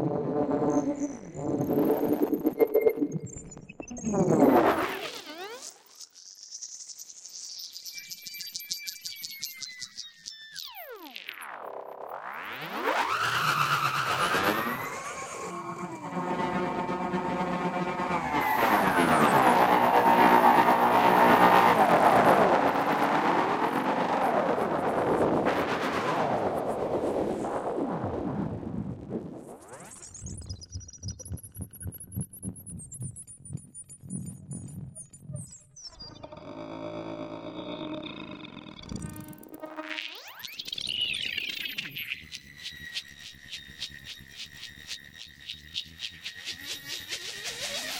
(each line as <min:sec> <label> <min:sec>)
0:11.0 drone 0:28.6
0:36.0 drone 0:47.9